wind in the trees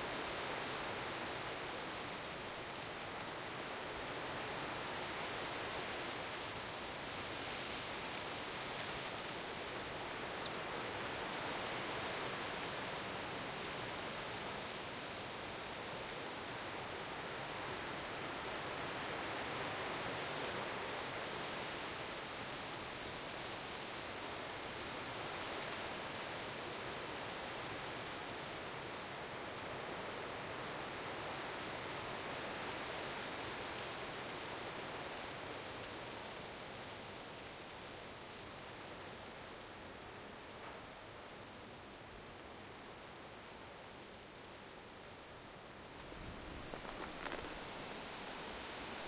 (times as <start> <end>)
0.0 23.8, 44.4 49.0